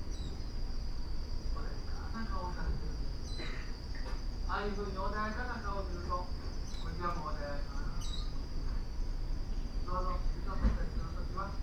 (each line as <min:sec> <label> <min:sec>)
0:04.5 voices of lecture 0:08.0
0:09.8 voices of lecture 0:11.6